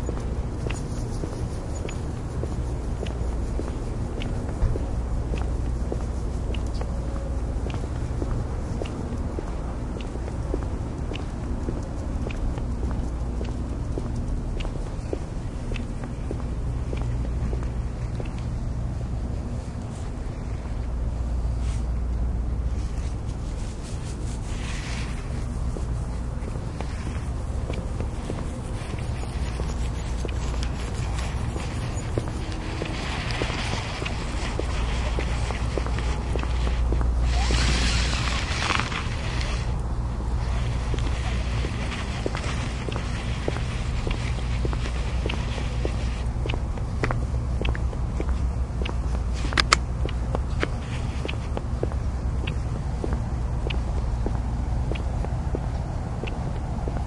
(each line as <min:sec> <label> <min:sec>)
0:00.0 walkingdog 0:20.9
0:21.6 walkingdog 0:57.0
0:21.6 train 0:47.8